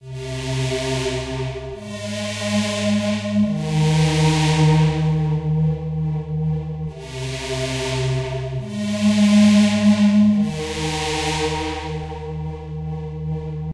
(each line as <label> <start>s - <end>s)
Re-sampled bassline with a LFO and reverb 0.0s - 13.7s